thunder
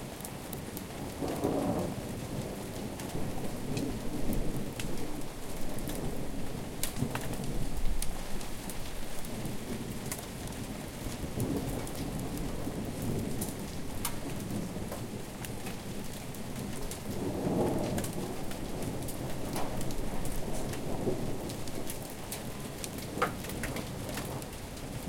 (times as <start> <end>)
11.2 22.1